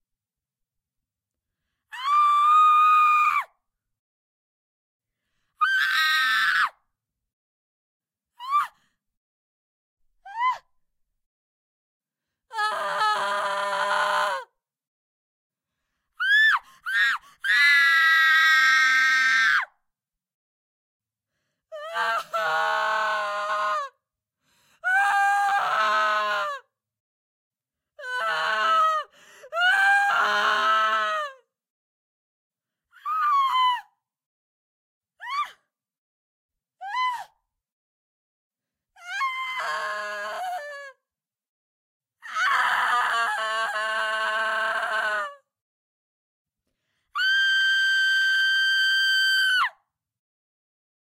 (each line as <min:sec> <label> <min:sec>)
0:01.9 screams from deep yelling to high pitched horror 0:03.5
0:05.6 screams from deep yelling to high pitched horror 0:06.8
0:22.2 screams from deep yelling to high pitched horror 0:24.0
0:42.3 screams from deep yelling to high pitched horror 0:45.5
0:47.2 screams from deep yelling to high pitched horror 0:49.8